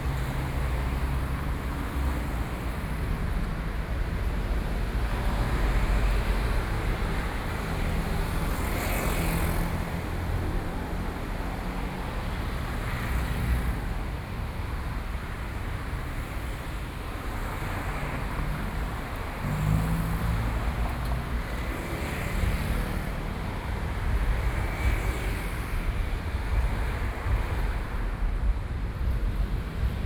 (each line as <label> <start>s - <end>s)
Night traffic 0.0s - 30.0s